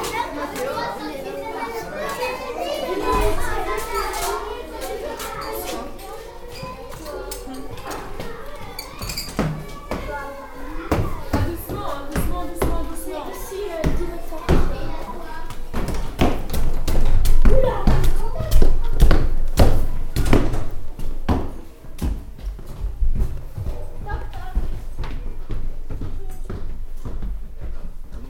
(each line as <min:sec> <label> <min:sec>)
0:13.8 Climbing the stairs 0:28.2